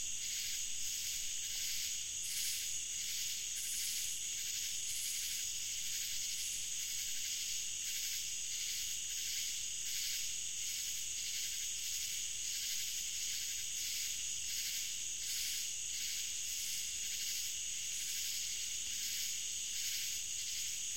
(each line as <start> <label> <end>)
0.0 cicadas 20.9
0.0 crickets 20.9